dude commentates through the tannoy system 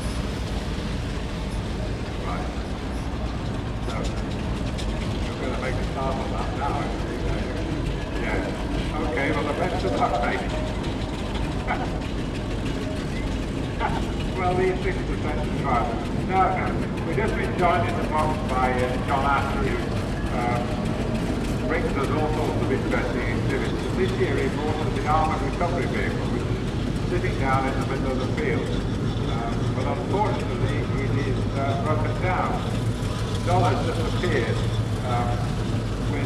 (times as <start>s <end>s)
13.8s 20.8s, 21.7s 26.4s